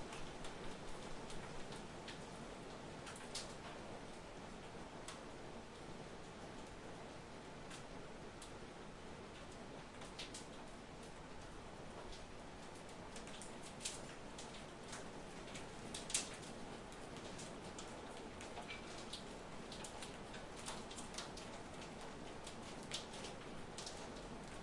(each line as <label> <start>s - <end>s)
rain 0.0s - 24.6s
hailstones on windows 9.4s - 24.6s